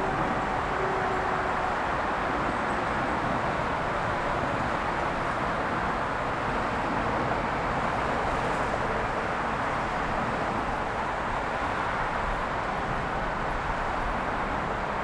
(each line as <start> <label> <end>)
0.0 oceanic roar of the late Friday afternoon traffic 15.0